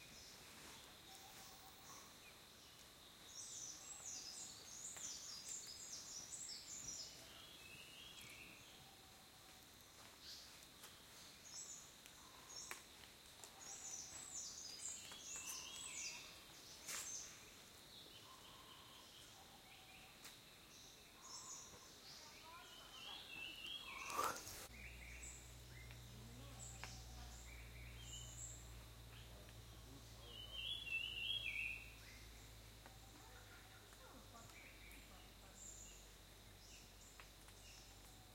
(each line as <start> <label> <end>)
0.0 birds 38.3